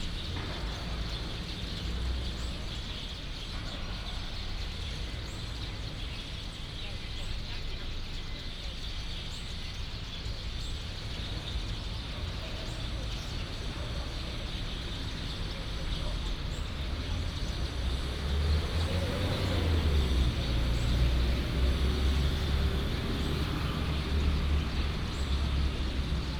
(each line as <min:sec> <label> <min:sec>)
0:00.0 Many sparrows 0:26.3
0:10.6 Traffic sound 0:26.3